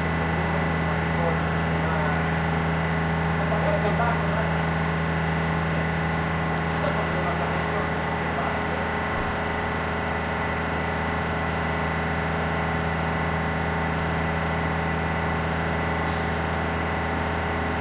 pressure machine 15.1 - 17.8

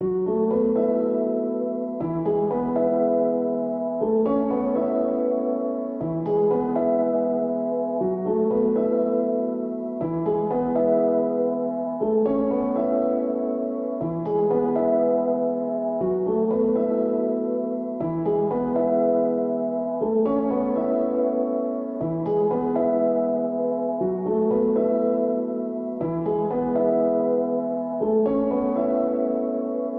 piano 0.0 - 29.9

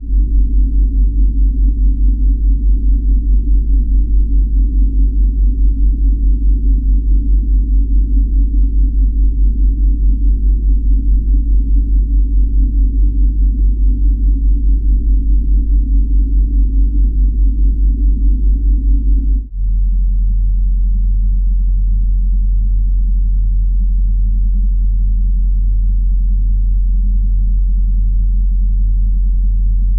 Fridge Hum 0.0 - 19.5

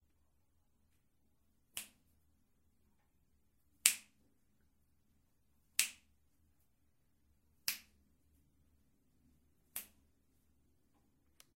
finger claps 5.8 - 6.0

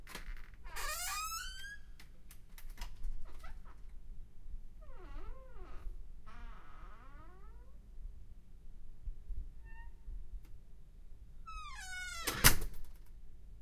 entrance door being opened and closed 11.5 - 13.1

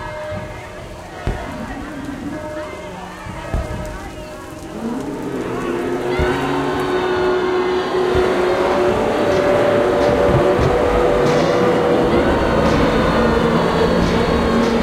monsters 0.0 - 14.8

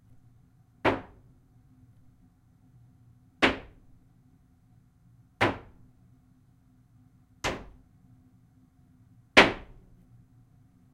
Hammer Hitting Wood 0.8 - 1.2
Hammer Hitting Wood 3.4 - 3.8
Hammer Hitting Wood 5.4 - 5.7
Hammer Hitting Wood 7.4 - 7.8
Hammer Hitting Wood 9.4 - 9.8

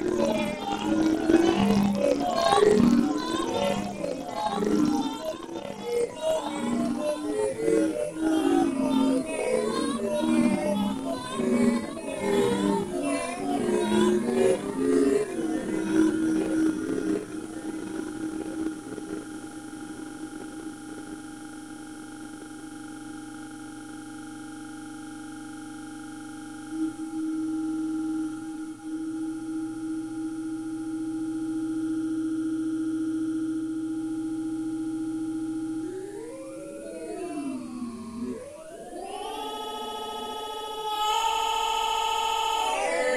synth 35.7 - 43.1

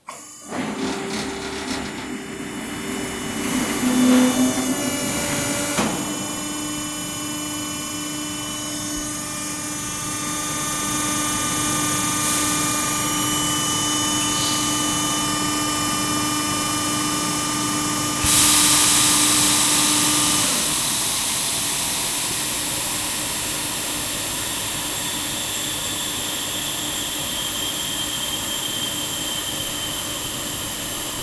Laser LiftMaster Pallet Swap Out 0.1 - 7.0

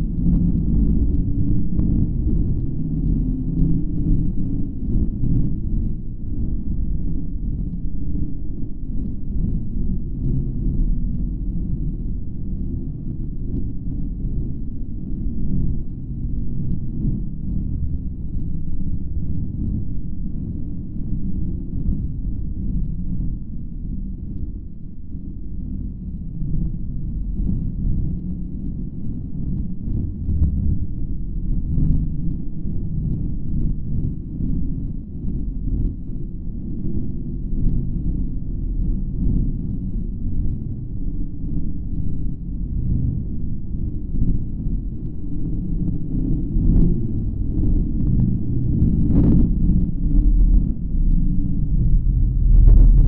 pulsating softly bass sound 15.8 - 35.8
pulsating softly bass sound 36.4 - 53.0

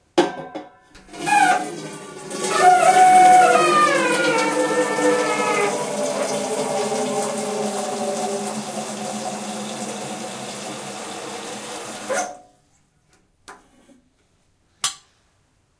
filling the kettle 1.1 - 12.3

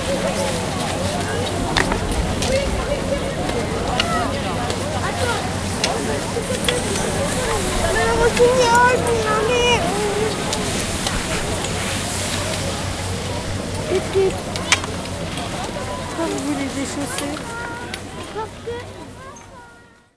people walking on snow 0.0 - 19.4
kids 1.0 - 20.1
Peolpe chatting 6.5 - 11.1

